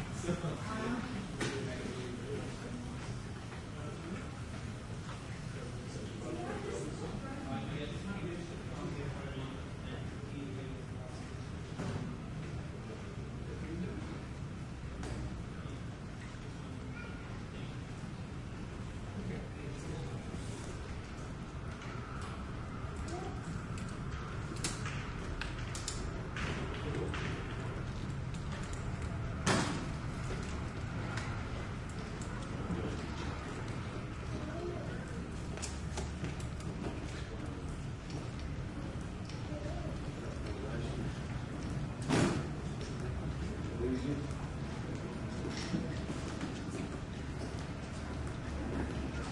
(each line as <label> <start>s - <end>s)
people passing on a hard floor 23.1s - 49.3s